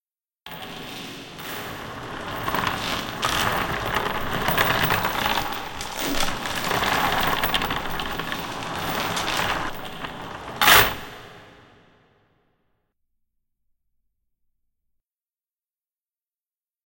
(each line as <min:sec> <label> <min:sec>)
0:00.5 Dragging a large amount of chains 0:11.5